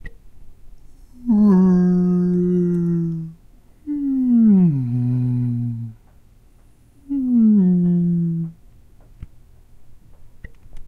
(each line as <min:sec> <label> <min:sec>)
0:01.0 person trying to replicate a whale 0:06.1
0:07.0 person trying to replicate a whale 0:08.6